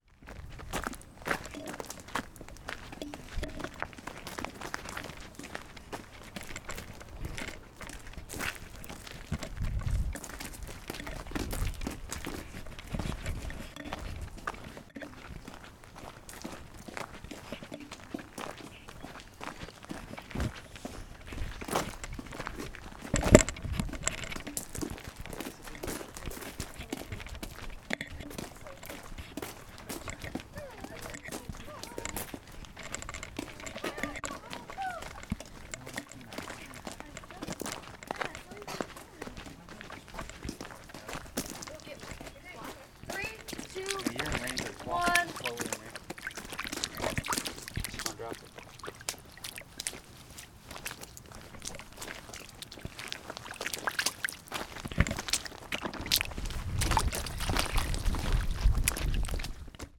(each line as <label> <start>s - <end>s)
Walking 0.0s - 59.9s
jumping in a puddle 0.4s - 59.9s